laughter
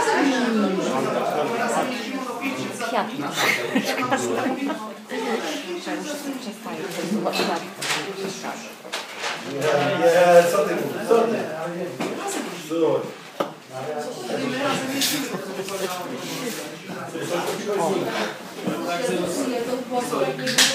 3.3s 5.0s, 14.9s 16.1s

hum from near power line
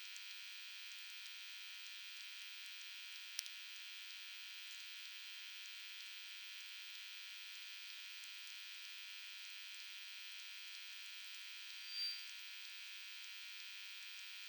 11.7s 12.4s

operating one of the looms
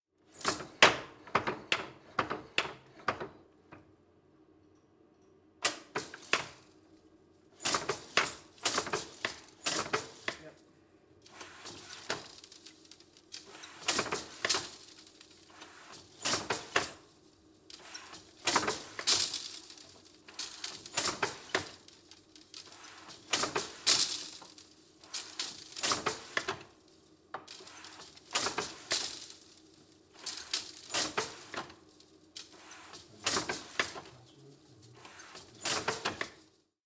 7.6s 10.6s, 11.2s 17.1s, 17.7s 26.8s, 27.4s 31.8s, 32.4s 36.5s

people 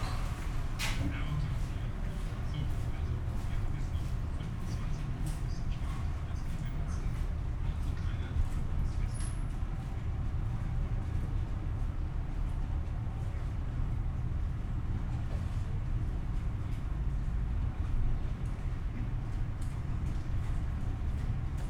0.0s 10.2s

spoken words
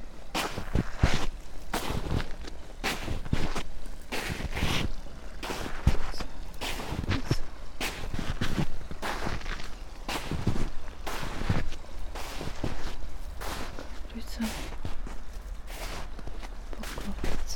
14.1s 14.6s, 16.8s 17.5s

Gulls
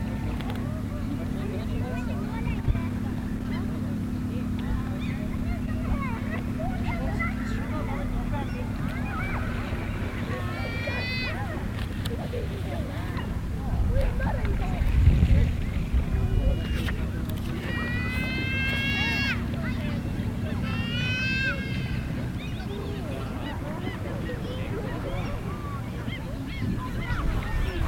4.9s 14.5s, 16.0s 27.8s

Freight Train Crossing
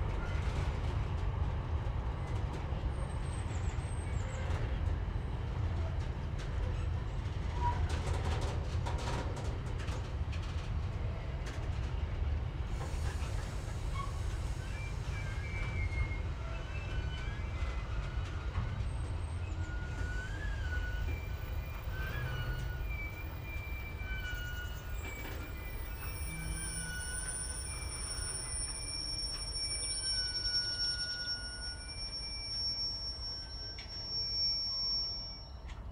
12.0s 35.9s

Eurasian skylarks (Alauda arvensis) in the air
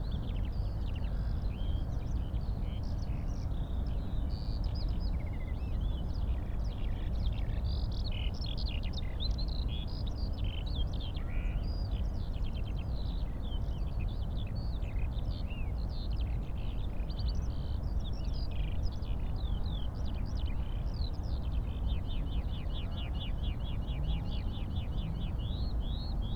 8.8s 26.3s

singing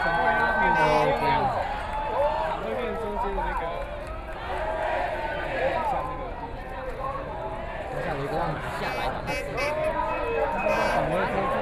0.0s 1.6s, 8.3s 11.6s

